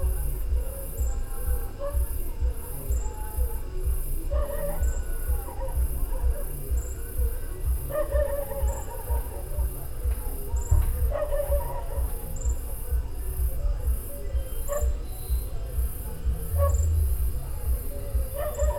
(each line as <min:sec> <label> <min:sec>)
0:00.0 Night birds 0:18.7
0:00.0 insects 0:18.7
0:00.0 voices from at least two bars 0:18.7